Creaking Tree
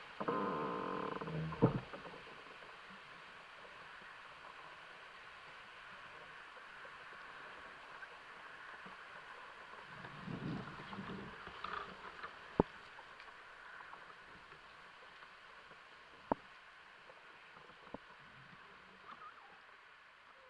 0.2 2.7, 9.7 14.6, 17.1 19.6

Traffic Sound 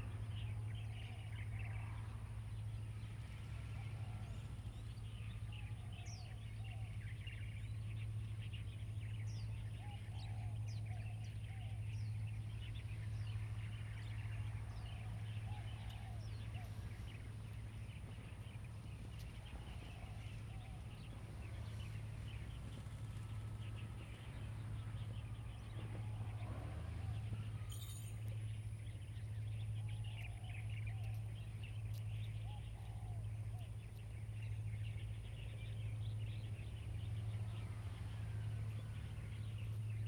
11.4 40.0

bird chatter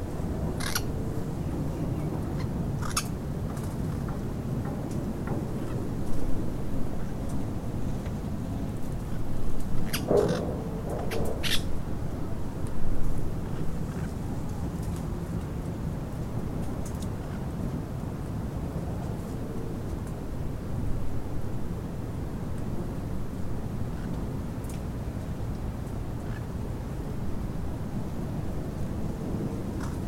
0.6 0.9, 2.4 3.1, 9.9 11.7

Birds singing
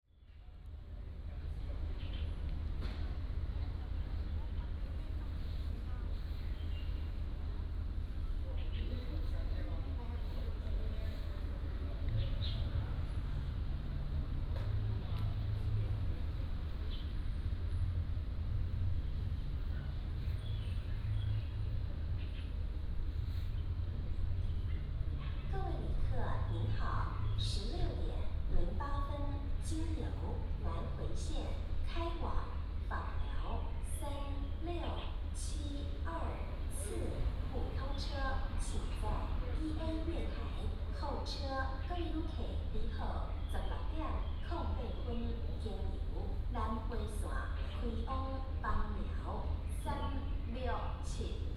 1.9 2.4, 6.3 7.3, 12.1 12.8, 20.2 22.6, 27.0 28.1, 32.6 35.9, 40.3 46.0, 46.7 48.6, 49.4 51.0

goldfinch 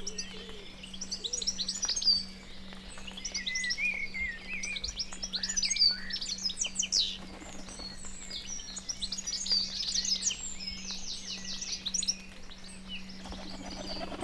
12.9 14.2

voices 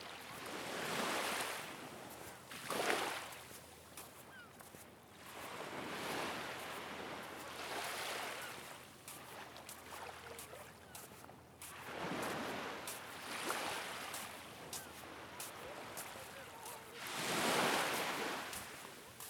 10.0 11.2, 14.7 19.2

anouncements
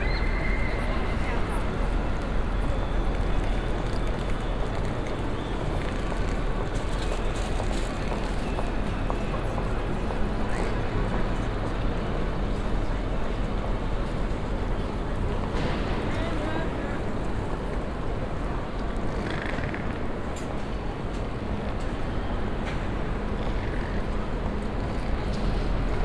0.0 4.2

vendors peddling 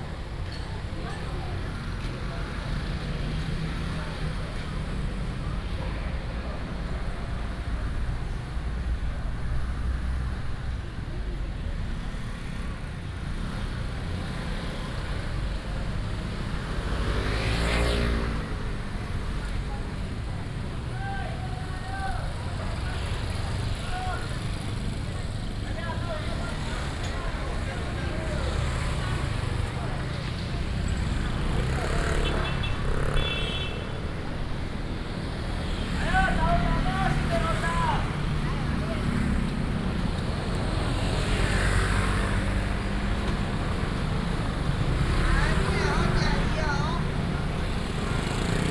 12.0 48.7

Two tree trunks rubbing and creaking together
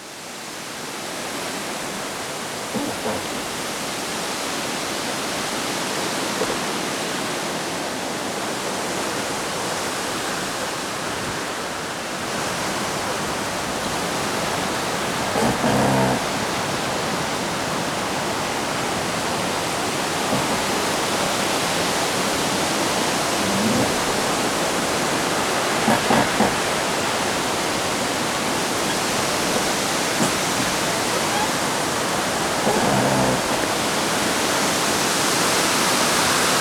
2.8 3.7, 12.0 34.0

